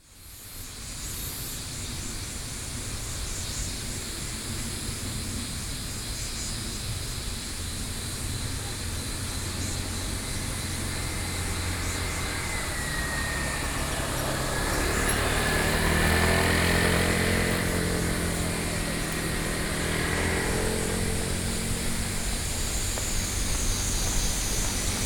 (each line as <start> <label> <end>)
0.2 Cicada sounds 25.0
8.5 Traffic Sound 25.0